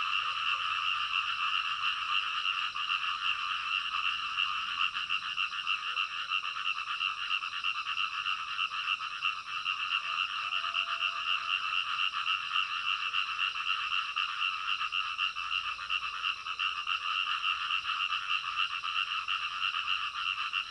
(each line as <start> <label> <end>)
0.0 Frogs chirping 20.7